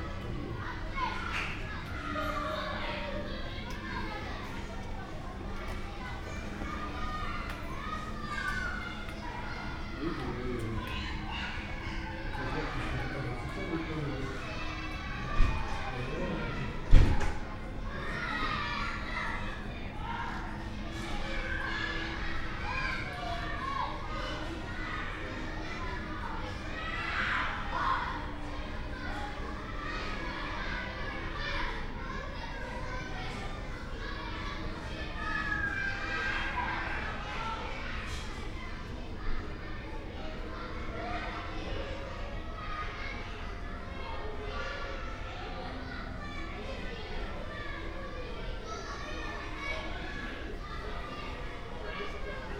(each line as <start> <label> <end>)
0.0 kids playing in nearby school yard 52.5